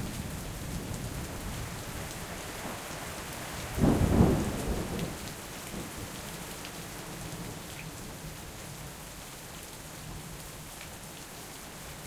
rain 0.0 - 12.0
thunder 3.7 - 5.2

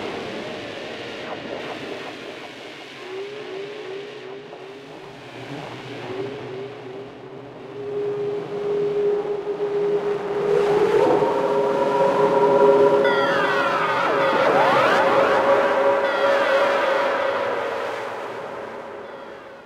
drone 0.0 - 19.6

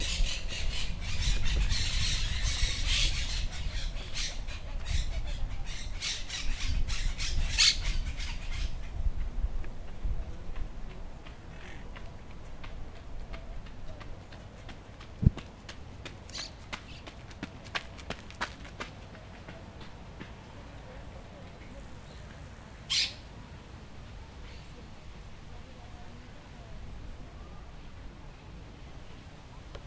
Birds 0.0 - 9.4
footsteps of a runner approaching 9.1 - 20.8
Birds 16.0 - 18.1
Birds 19.0 - 23.3

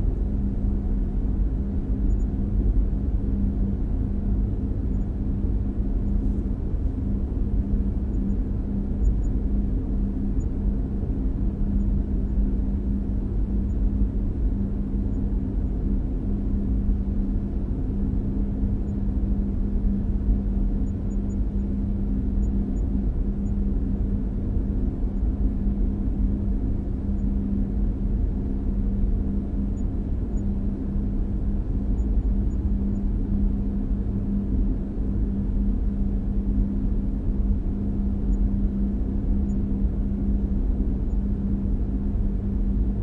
heavy ventilation10 0.0 - 43.0

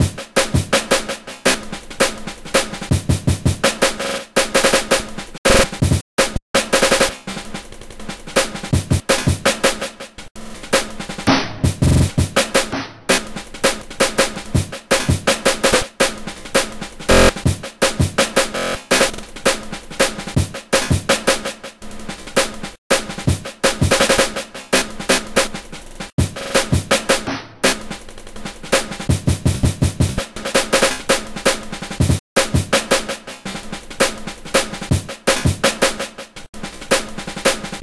snare 3.7 - 7.5
bass 5.5 - 5.9
snare 8.4 - 11.6
snare 12.4 - 17.4
bass 17.1 - 17.4
snare 18.2 - 28.0
snare 28.7 - 29.1
snare 30.1 - 37.8

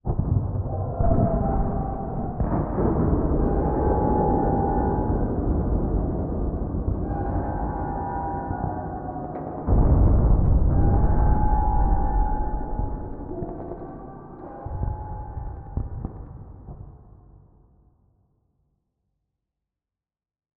explosion 0.1 - 16.9
scream 0.6 - 16.2
alarm 3.0 - 9.5
creaking 6.9 - 16.3
alarm 10.4 - 16.3

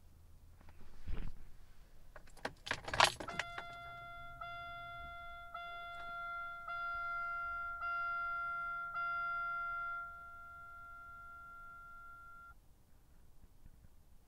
beeps a car makes when you do not have a seatbelt 3.3 - 12.5

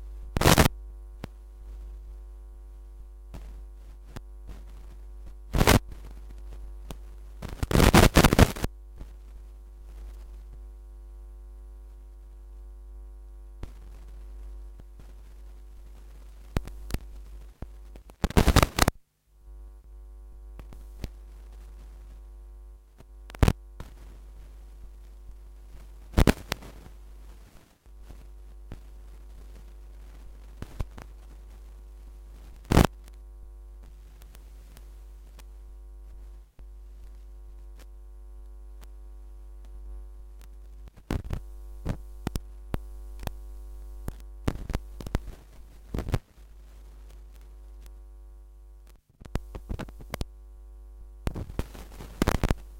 hum 0.0 - 52.7
static 0.0 - 52.7
vinyl scratch 0.4 - 0.7
vinyl scratch 5.6 - 5.9
vinyl scratch 7.4 - 8.7
vinyl scratch 18.2 - 18.9

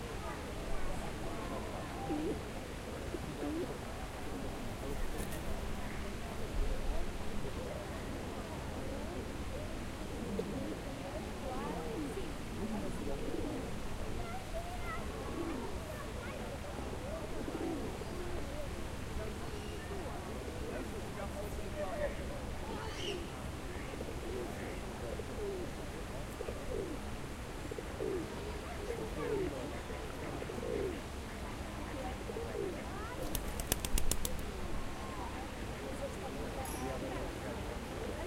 conversation 3.4 - 6.8
conversation 11.1 - 38.2
birds 22.8 - 23.3

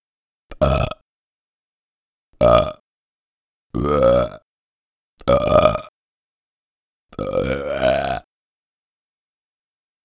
cartoon burps 0.5 - 1.0
cartoon burps 2.4 - 2.8
cartoon burps 3.8 - 4.4
cartoon burps 5.2 - 5.9
cartoon burps 7.2 - 8.3

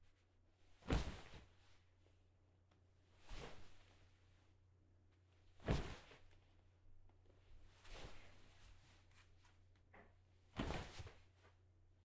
flop on couch 0.8 - 1.5
flop on couch 5.6 - 6.2
flop on couch 10.6 - 11.2

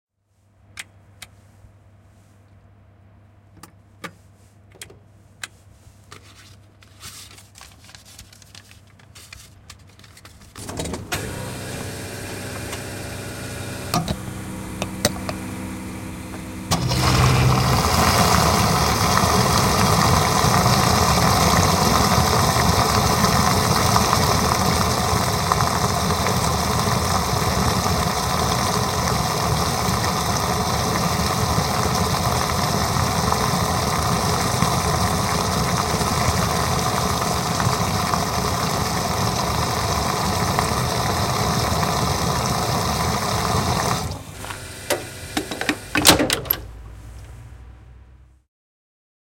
cash machine 10.5 - 37.1
Fuel dispenser, refilling the tank 10.6 - 46.8
cash machine 39.2 - 46.8

